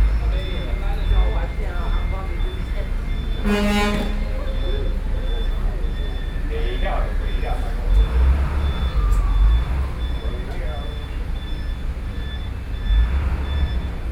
traffic noise 0.0 - 14.1

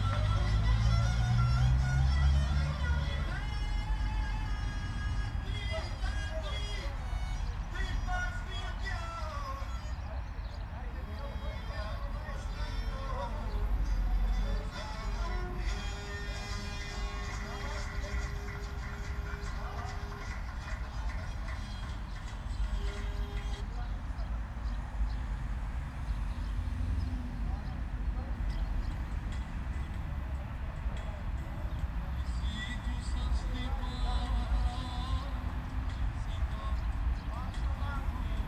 drone of heavy traffic 0.0 - 38.4

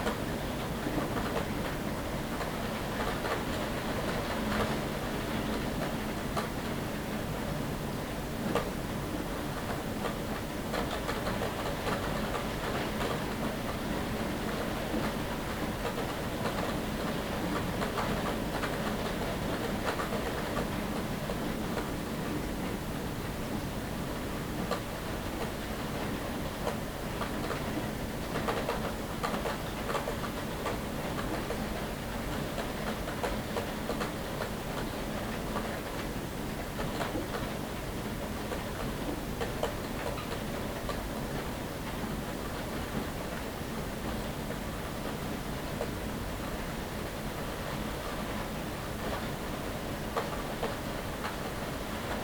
Rain at Night 0.0 - 52.2

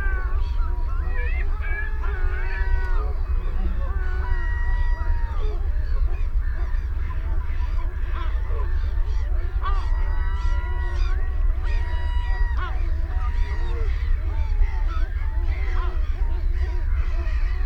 black-headed gull 0.0 - 17.6
canada goose 0.0 - 17.6
herring gull 0.0 - 17.6
ringed plover 0.0 - 17.6

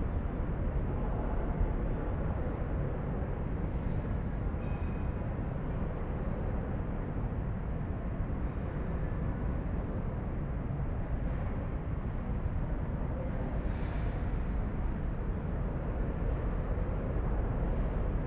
traffic reverbing in the tube like architecture construction 0.0 - 18.2

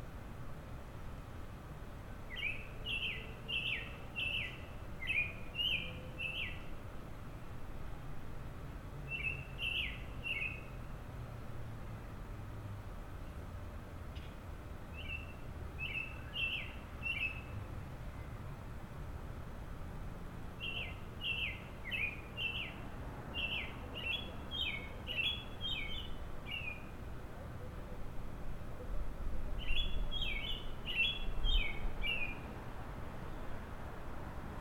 Robin singing 2.3 - 6.8
Robin singing 9.0 - 10.9
Robin singing 14.1 - 18.4
Robin singing 20.6 - 27.8
Robin singing 29.5 - 32.6

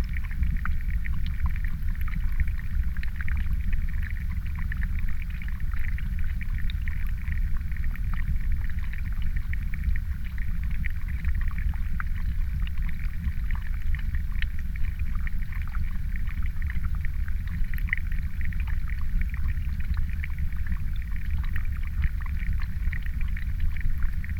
water flows from pond into stream 0.0 - 24.3

